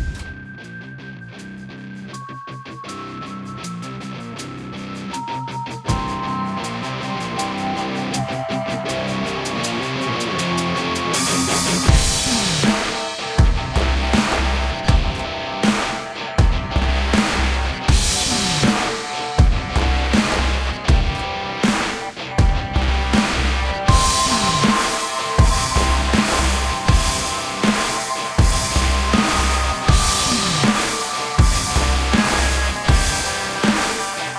bass 0.0 - 24.8
eguitar 0.0 - 34.3
percussion 0.0 - 34.3
synth 5.9 - 34.3
bass 25.4 - 34.3

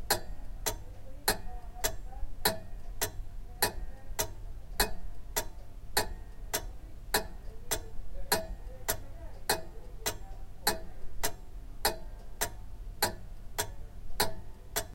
background noise 0.0 - 14.9
old grandfather clock is ticking 0.0 - 14.9

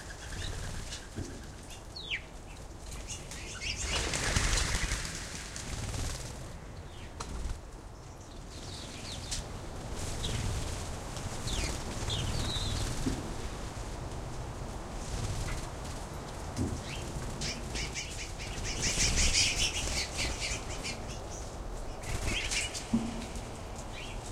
wings flapping 0.0 - 1.7
wings flapping 2.9 - 6.6
wings flapping 7.2 - 7.7
wings flapping 9.9 - 21.1
wings flapping 21.8 - 24.3

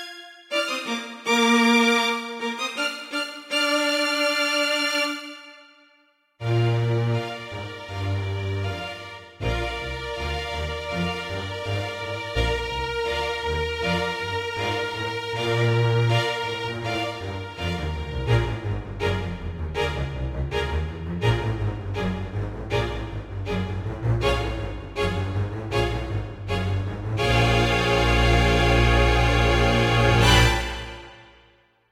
trumpets 0.0 - 5.8
trumpets 24.2 - 31.6

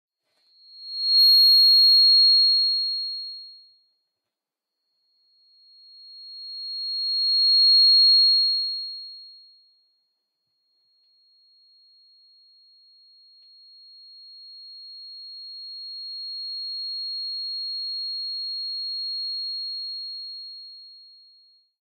Microphone feedback of varying lengths 0.3 - 2.9
Microphone feedback of varying lengths 6.1 - 8.6

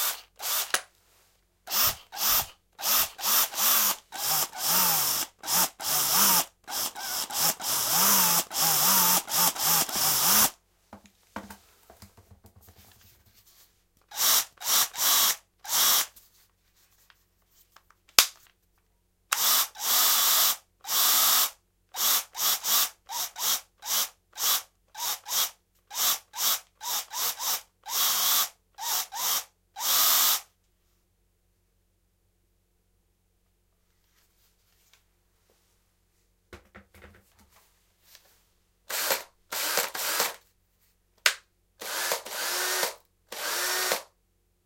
electric screwdriver various speeds 0.0 - 0.8
electric screwdriver various speeds 1.7 - 10.6
electric screwdriver various speeds 14.1 - 16.1
electric screwdriver various speeds 19.3 - 30.5
electric screwdriver various speeds 38.9 - 40.4
electric screwdriver various speeds 41.8 - 44.1

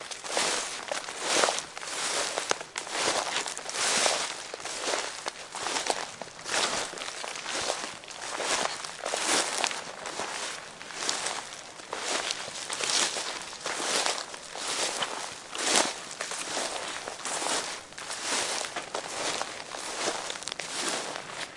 Footsteps in Crunchy Fall Leaves 0.0 - 21.5

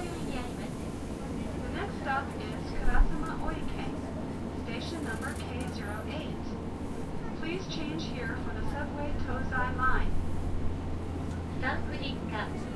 people 0.0 - 10.1
subway 0.0 - 12.7

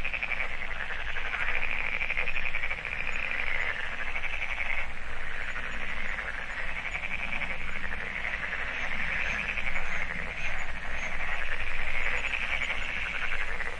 frogs 0.0 - 13.7
geese 0.0 - 13.7
insects 0.0 - 13.7

